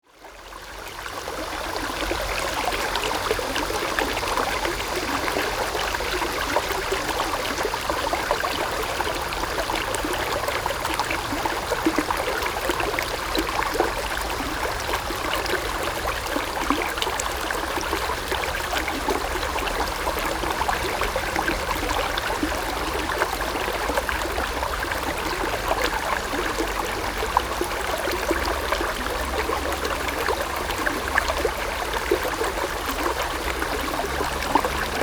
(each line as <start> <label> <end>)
0.8 Standing streams 35.0
17.2 Traffic Sound 35.0